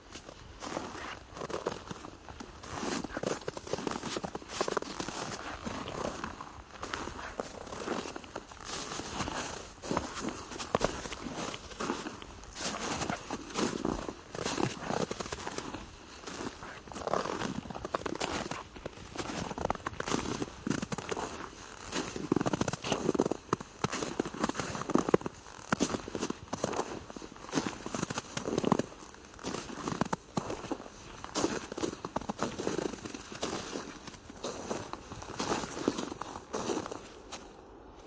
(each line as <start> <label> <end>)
0.0 snow walking 38.0